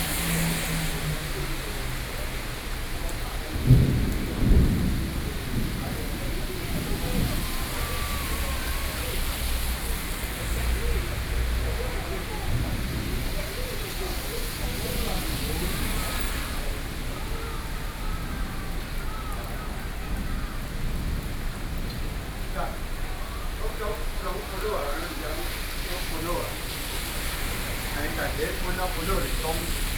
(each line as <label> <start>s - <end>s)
Thunderstorm 0.0s - 29.9s
Traffic Noise 0.0s - 29.9s
conversation among workers 0.0s - 29.9s